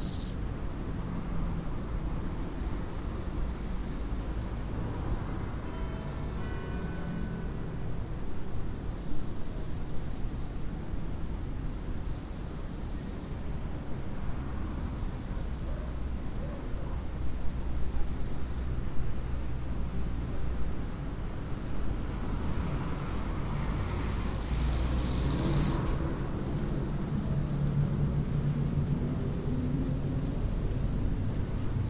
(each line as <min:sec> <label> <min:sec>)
0:00.0 Three bugs chatting 0:00.4
0:00.0 Cars 0:31.8
0:26.5 Three bugs chatting 0:27.6